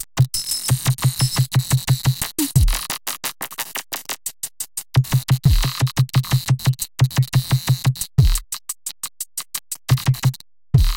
Glitch Drums 0:00.7 - 0:04.1
Glitch Drums 0:05.0 - 0:08.5
Glitch Drums 0:09.8 - 0:10.9

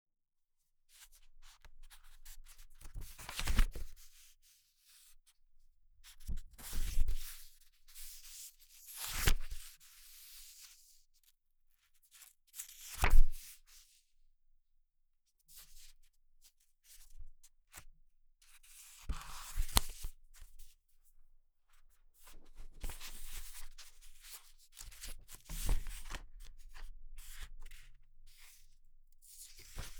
FLIPPING BOOK PAGES 0:02.9 - 0:03.9
FLIPPING BOOK PAGES 0:08.9 - 0:09.6
FLIPPING BOOK PAGES 0:12.6 - 0:13.3
FLIPPING BOOK PAGES 0:19.1 - 0:20.1
FLIPPING BOOK PAGES 0:22.8 - 0:27.8
FLIPPING BOOK PAGES 0:29.5 - 0:29.9

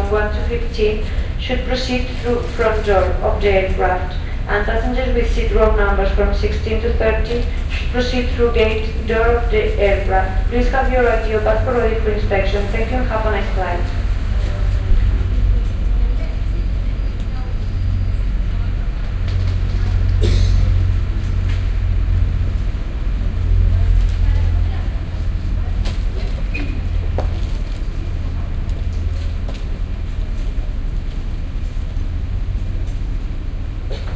female flight attendant makes an announcement 0:00.0 - 0:20.8
female flight attendant makes an announcement 0:23.5 - 0:26.9

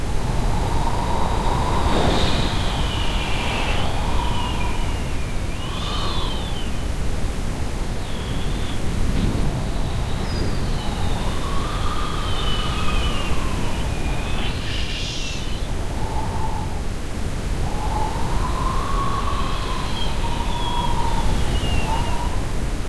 Wind blowing 0:00.0 - 0:22.8

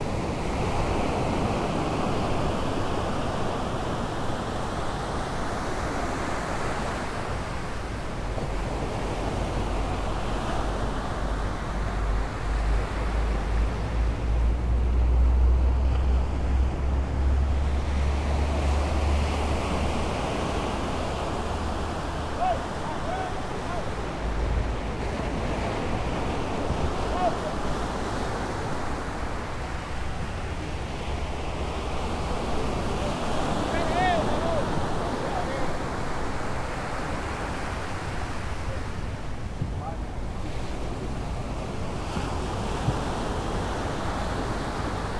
little boat arriving at the beach 0:00.0 - 0:45.1
waves breaking in the beach 0:00.0 - 0:45.1
fishers talking loud and screamming occasionally 0:20.7 - 0:24.6

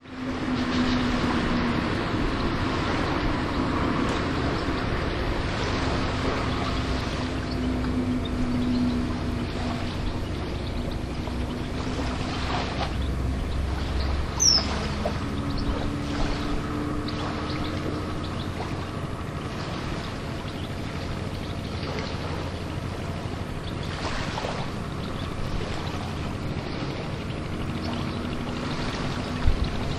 Fishermen's boats can be heard returning to the bay 0:00.0 - 0:29.9
gentle waves 0:00.0 - 0:29.9
birds 0:00.0 - 0:29.9

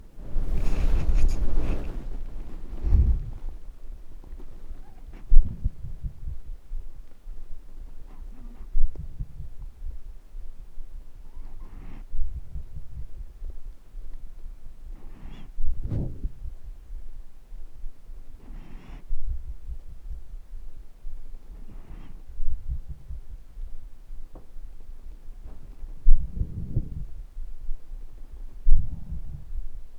Elderly female cat breathing 0:00.0 - 0:05.9
Elderly female cat breathing 0:11.3 - 0:12.8
Elderly female cat breathing 0:14.8 - 0:16.4
Elderly female cat breathing 0:18.3 - 0:19.4
Elderly female cat breathing 0:21.4 - 0:23.1

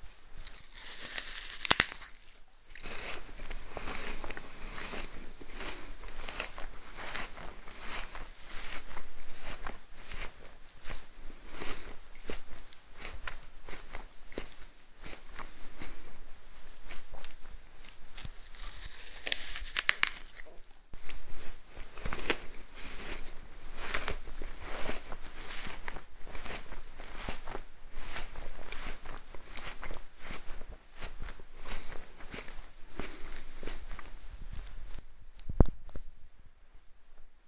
Human eating apple 0:00.4 - 0:16.0
Human eating apple 0:16.9 - 0:27.4

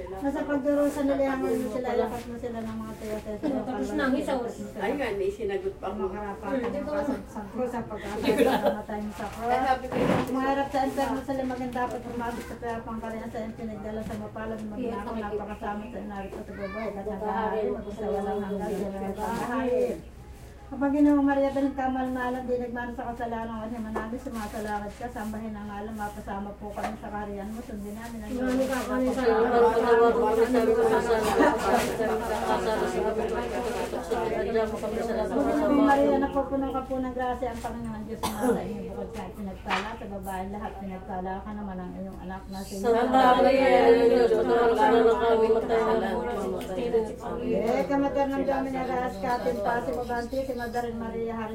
ladies are praying and chanting 0:00.0 - 0:51.5
men are cleaning the tomb 0:27.4 - 0:34.0

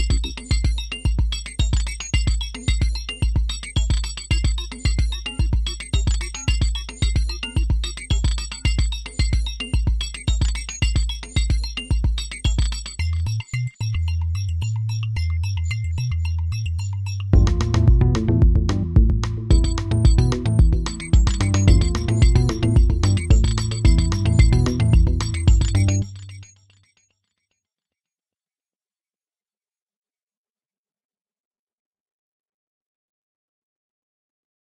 various instruments 0:17.3 - 0:26.4

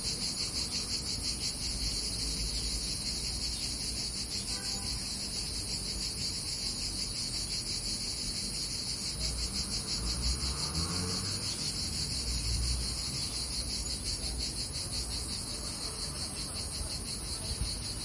cicadas 0:00.0 - 0:18.0

